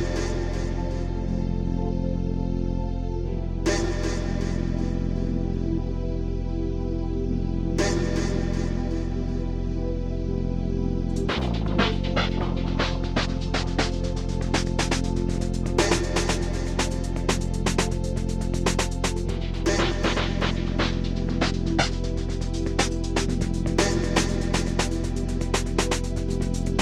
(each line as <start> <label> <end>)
0.0 bass 26.8
0.0 synth 26.8